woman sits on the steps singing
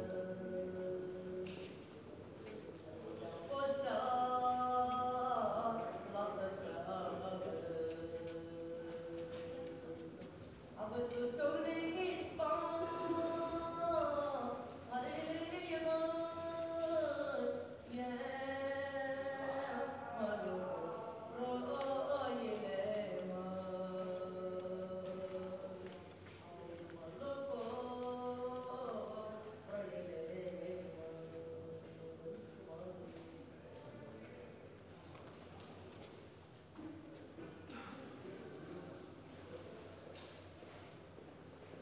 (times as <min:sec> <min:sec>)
0:00.0 0:01.8, 0:03.4 0:26.0, 0:26.9 0:32.5